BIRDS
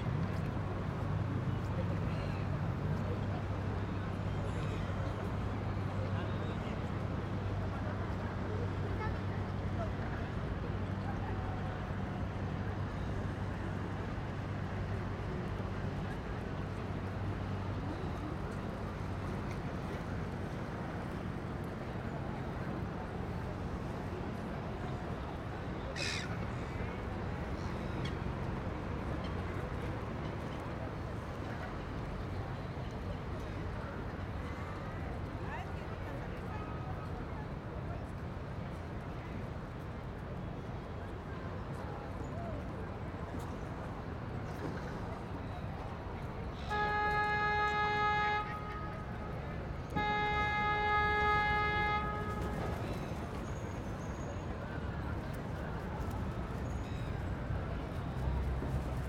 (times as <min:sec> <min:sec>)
0:25.9 0:26.4